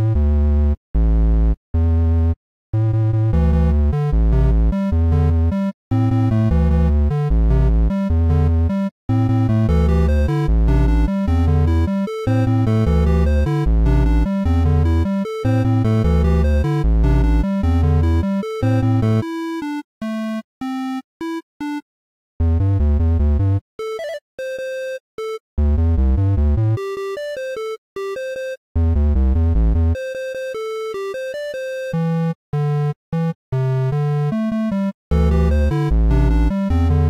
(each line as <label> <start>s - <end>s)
8 bit music loop 3.3s - 21.8s
8 bit music loop 22.4s - 37.0s